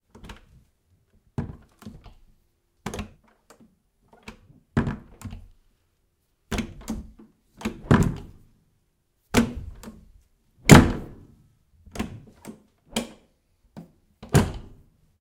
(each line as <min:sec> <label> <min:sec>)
0:14.2 Door 0:14.8